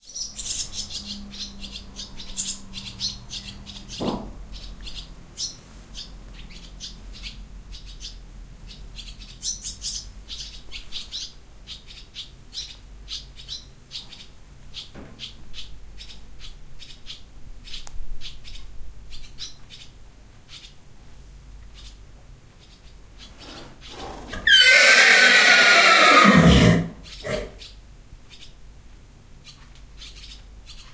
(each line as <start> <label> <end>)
23.4 horse nicker 27.6